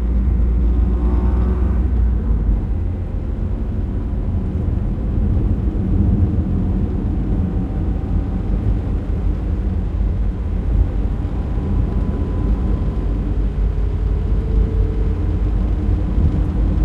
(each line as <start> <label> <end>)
0.0 driving on asphalt 16.8